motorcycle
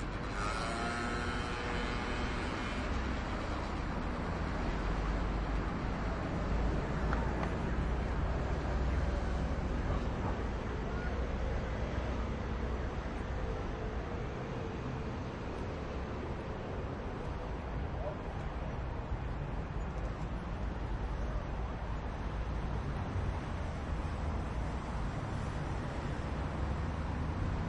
0:00.0 0:11.1

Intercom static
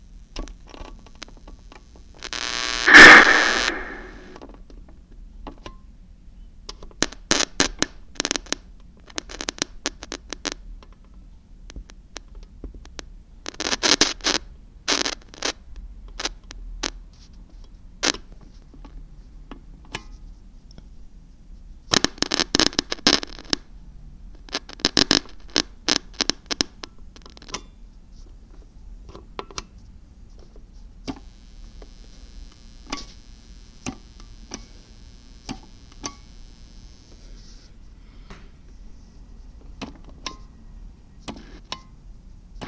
0:02.4 0:04.4

